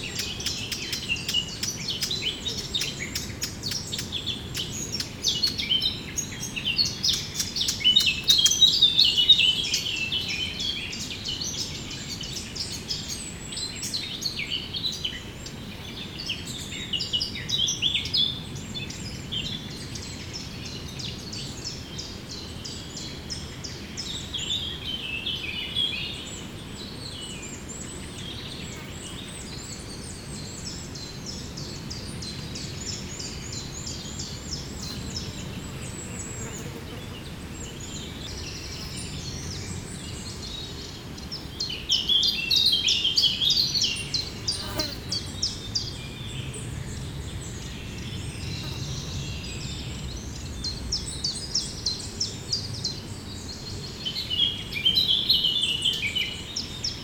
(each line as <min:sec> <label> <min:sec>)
0:00.0 Eurasian Blackcap singing 0:15.2